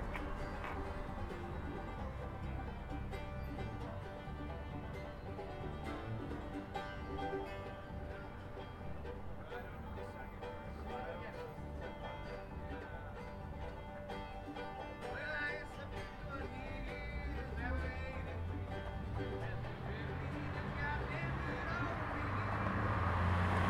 0.0s People were playing bluegrass 23.6s
0.0s Traffic 23.6s

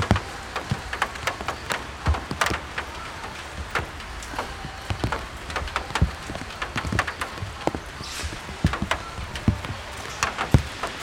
0.0s raindrops 11.0s
0.0s talks 11.0s
0.0s walkers 11.0s

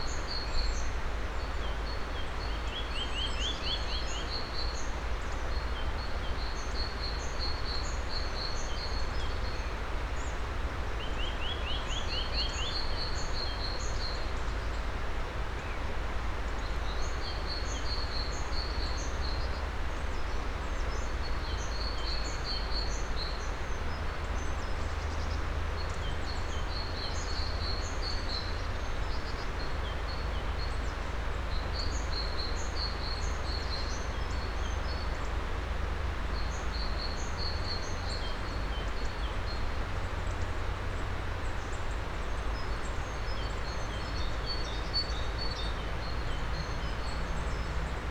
0.0s river sound 48.1s

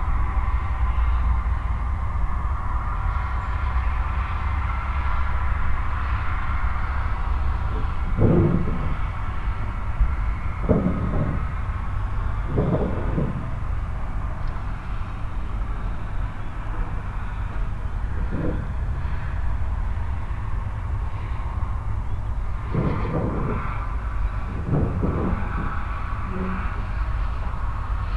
0.0s road drone 28.1s

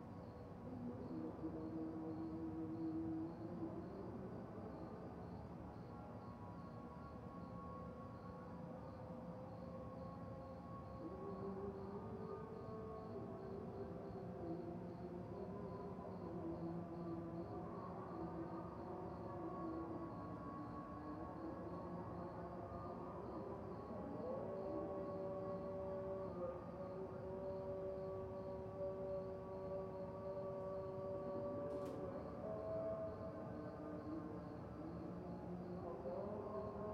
0.0s early morning prayer 36.9s

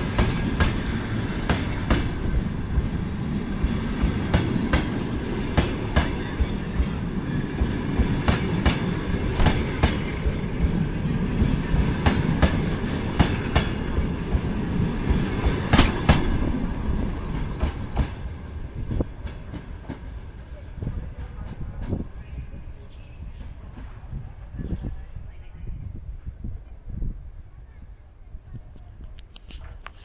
0.0s Train wheels sound 22.1s
0.0s wind sound 30.0s

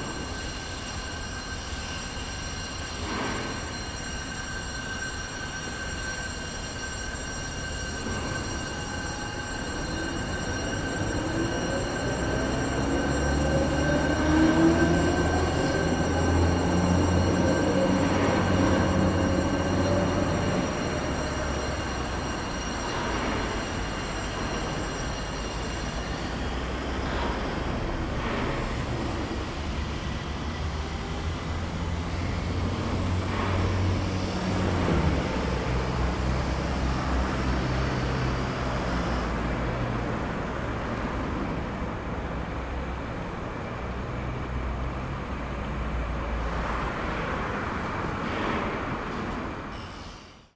0.0s diesel locomotive 50.5s

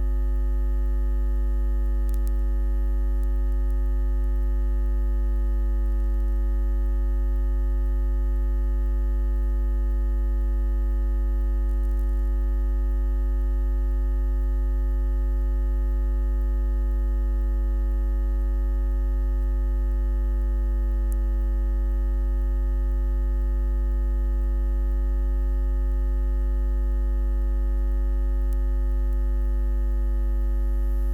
0.0s Electromagnetic hum 31.1s

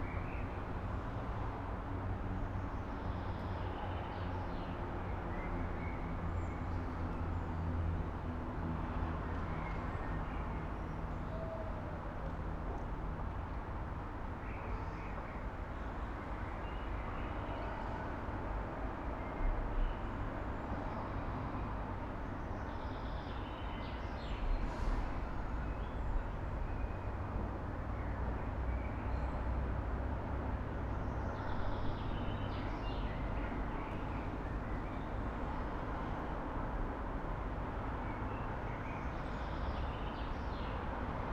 24.4s trains 27.4s

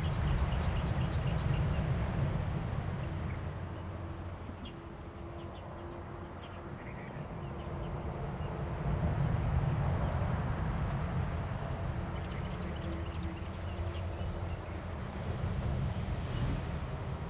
9.1s Waves 17.2s

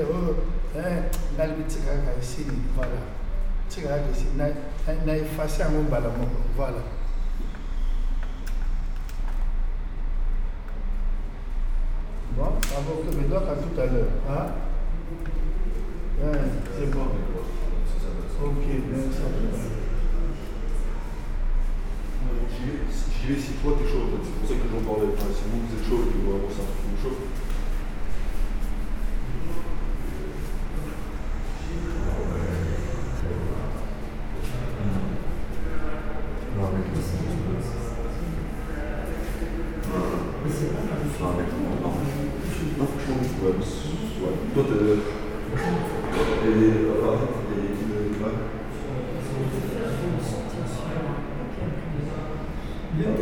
12.0s People discussing with their phone 53.2s

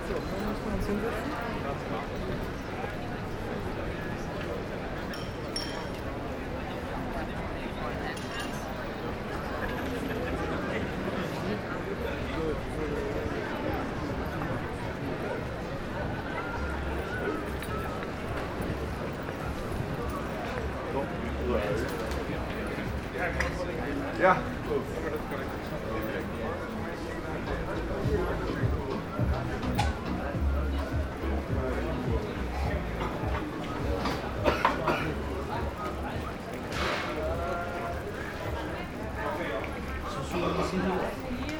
17.7s Happy people discussing and drinking 41.5s

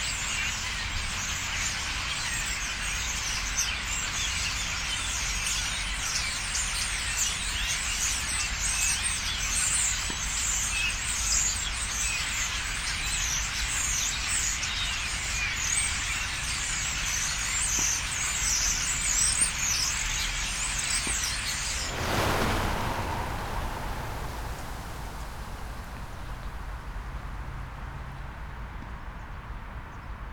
21.7s traffic noise 28.8s

